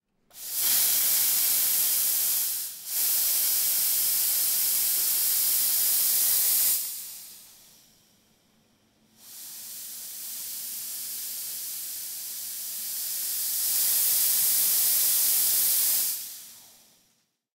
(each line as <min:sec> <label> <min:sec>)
0:00.3 Steamer 0:08.1
0:09.1 Steamer 0:17.3